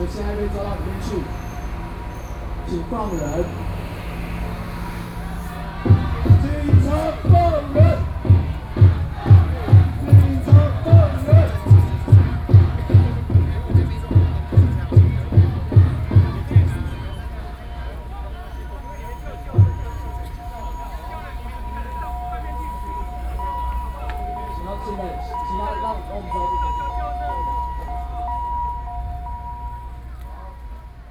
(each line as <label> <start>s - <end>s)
Students' protests 0.0s - 31.1s